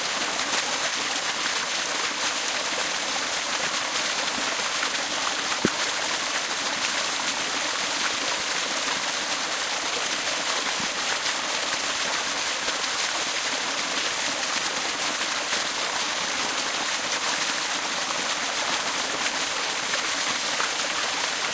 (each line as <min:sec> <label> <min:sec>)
0:00.0 waterfall 0:21.5